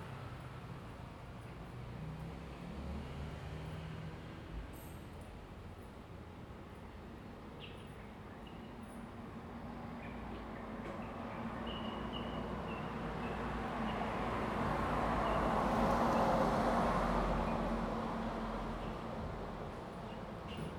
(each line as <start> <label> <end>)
10.2 Traffic Sound 20.7